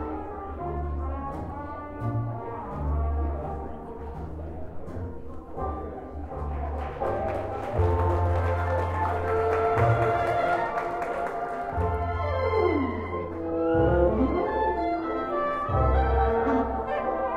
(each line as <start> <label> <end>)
0.0 jazz 17.3